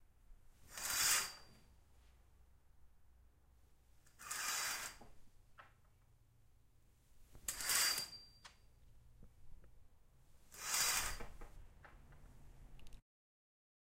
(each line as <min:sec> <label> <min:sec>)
0:00.6 pulling a curtain 0:01.6
0:04.1 pulling a curtain 0:05.2
0:07.4 pulling a curtain 0:08.4
0:10.5 pulling a curtain 0:11.6